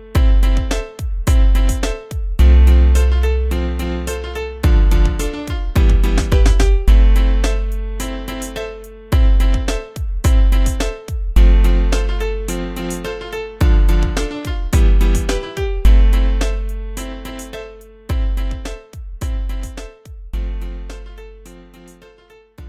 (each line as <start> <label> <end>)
0.0 piano 22.6
0.2 drum 2.7
4.6 drum 7.8
9.2 drum 12.2
13.6 drum 16.7
18.1 drum 20.2